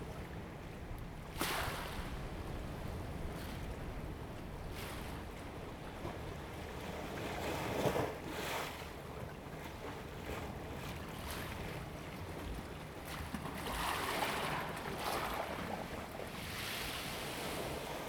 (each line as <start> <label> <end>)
12.8 Waves and tides 18.0